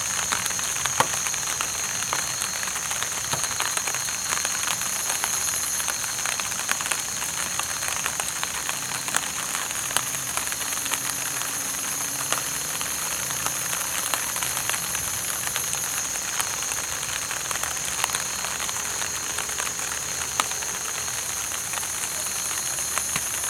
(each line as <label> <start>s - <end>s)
Cicadas 0.0s - 23.4s
rain 0.0s - 23.4s